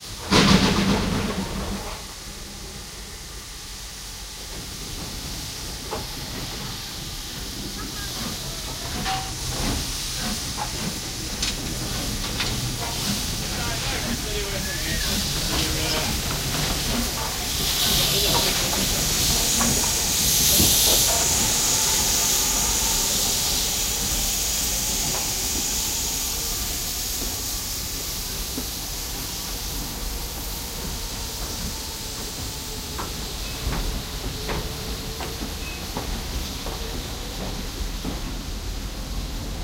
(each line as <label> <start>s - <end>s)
Steam train leaving 0.0s - 39.6s